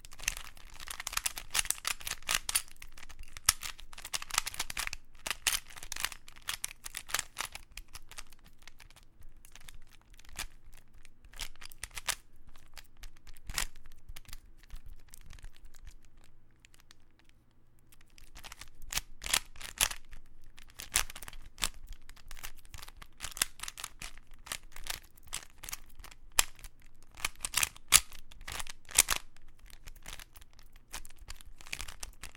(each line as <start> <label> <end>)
0.0 Rubikscube 32.3